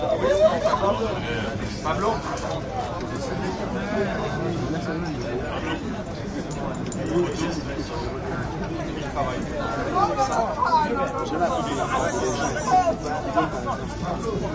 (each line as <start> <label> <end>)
0.0 crowd 14.5